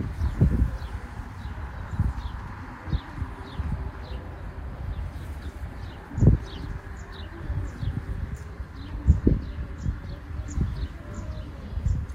other birds 0.0 - 12.1
traffic 0.0 - 12.1
voices in the distance 0.0 - 12.1
wind sound 0.0 - 12.1

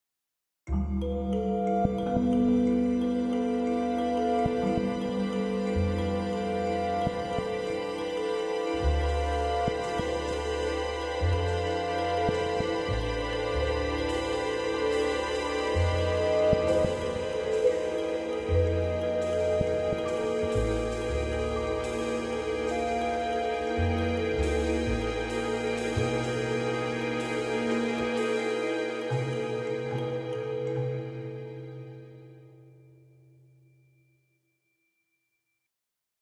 violins 2.0 - 32.0

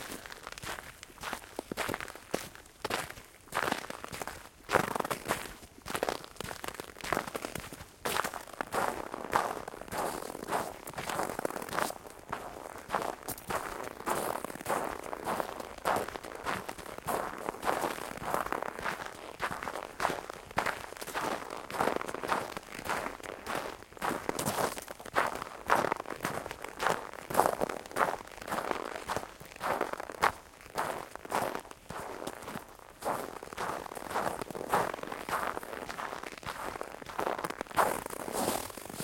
walking through snow 0.0 - 39.0

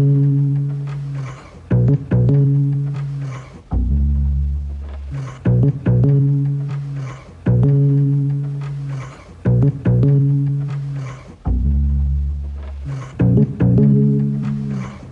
vintage Cello 0.0 - 15.1

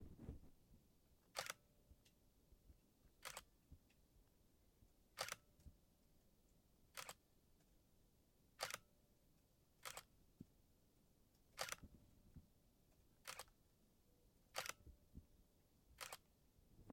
Camera Click 1.4 - 1.6
Camera Click 3.2 - 3.5
Camera Click 5.2 - 5.4
Camera Click 7.0 - 7.2
Camera Click 8.6 - 8.9
Camera Click 9.8 - 10.1
Camera Click 11.6 - 11.9
Camera Click 13.2 - 13.6
Camera Click 14.6 - 14.8
Camera Click 16.0 - 16.2

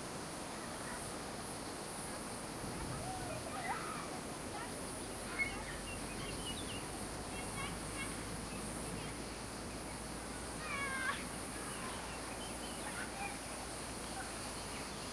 cicadas 0.0 - 15.1
typical strong wind 0.1 - 14.6
Children playing in fields of dry grass 2.0 - 15.1
birds 5.0 - 15.1

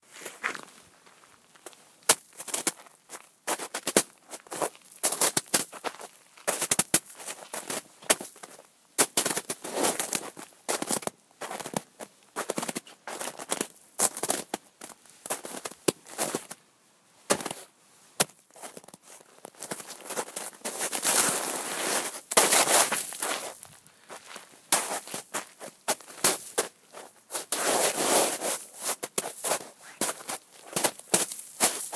footsteps in snow 18.5 - 31.9
snow sounds 19.8 - 26.5
snow sounds 27.4 - 30.9
shovel 27.6 - 28.9

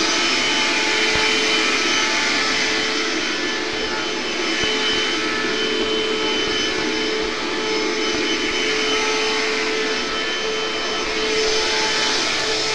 vacuum running long 0.0 - 12.7

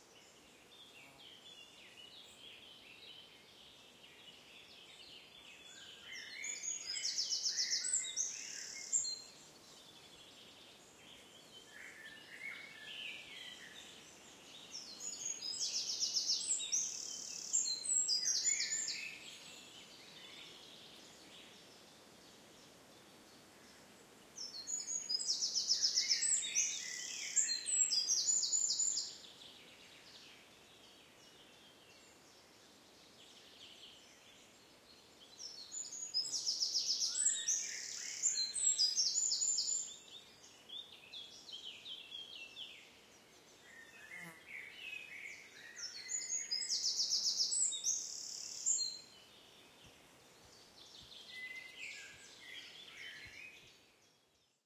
european robin 4.6 - 22.0
common blackbird 11.1 - 21.8
european robin 24.4 - 34.6
common blackbird 24.4 - 32.5
european robin 35.2 - 54.6
common blackbird 35.3 - 54.2

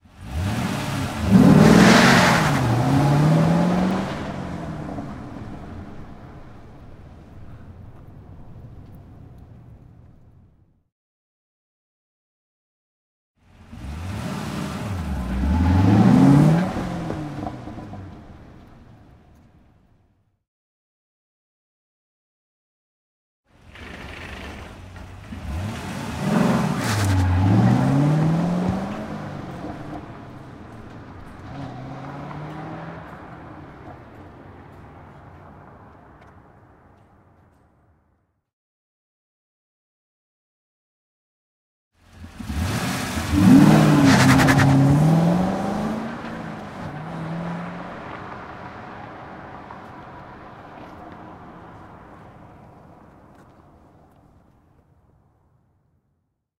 auto performance car pull away quickly 0.1 - 7.0
auto performance car pull away quickly 23.6 - 36.4
auto performance car pull away quickly 42.0 - 53.4

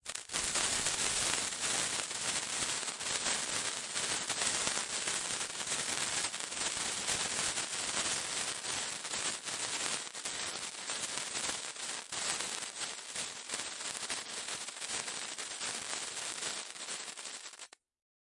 firework sparkler being ignited, idling, then extinguishing 0.0 - 17.8

